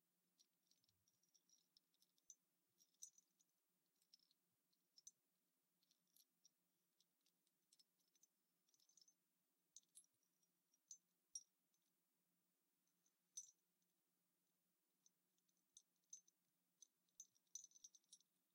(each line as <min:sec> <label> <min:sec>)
0:00.0 gentle tinkling bells 0:05.2
0:05.8 gentle tinkling bells 0:11.9
0:12.8 gentle tinkling bells 0:13.7
0:15.0 gentle tinkling bells 0:18.5